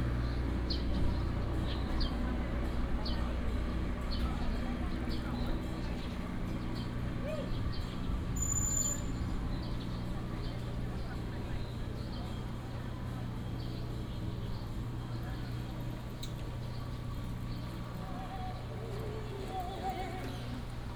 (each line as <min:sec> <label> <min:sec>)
0:00.0 Walking in the temple 0:20.9